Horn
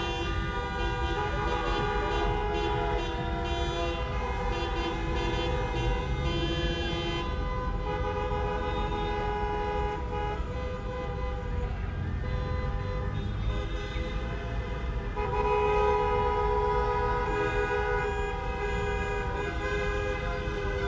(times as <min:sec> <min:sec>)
0:00.0 0:11.5